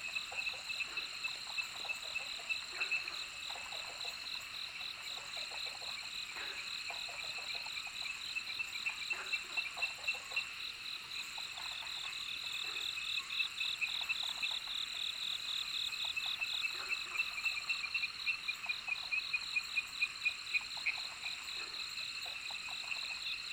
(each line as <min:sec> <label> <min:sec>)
0:00.0 Frogs chirping 0:23.5